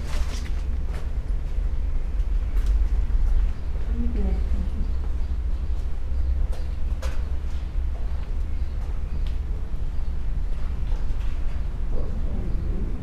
walk inside 0.0 - 13.0

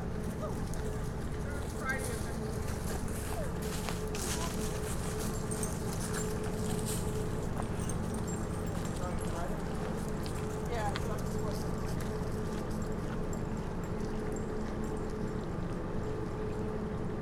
people walk the trail 0.0 - 17.2
child moves in close to the recording rig 1.6 - 8.2

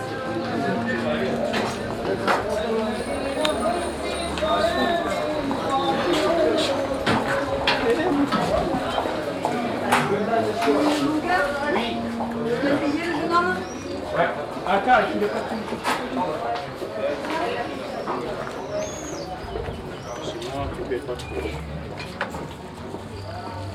traders calling at people 0.0 - 15.2
music coming from the shops 0.0 - 23.7
feets walking on the unregualar stone pavement 16.6 - 23.7
birds chirp in cages 17.9 - 22.1

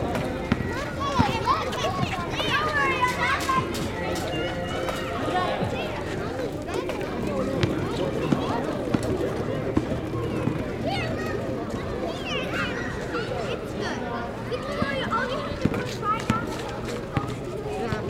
music 0.0 - 6.9
children playing 0.0 - 18.0
basketball sounds 0.1 - 2.5
basketball sounds 7.4 - 10.7

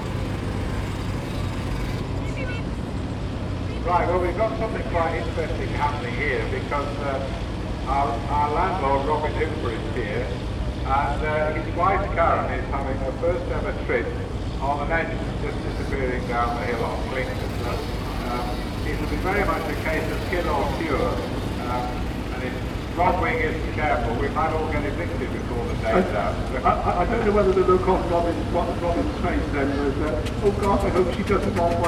Steam contraptions parading 3.9 - 31.8

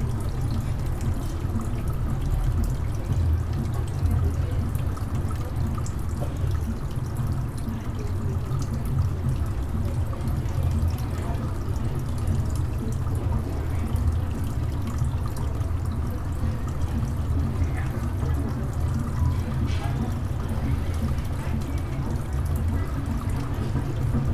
Fountain 0.0 - 24.3
People talking and passing by 0.0 - 24.3
Dishes 19.2 - 20.2

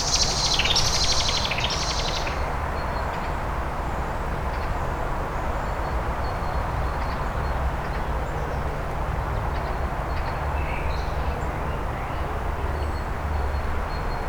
hum of traffic 0.0 - 14.2

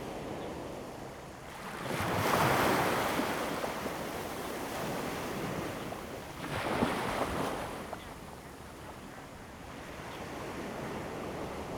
waves 1.6 - 11.7

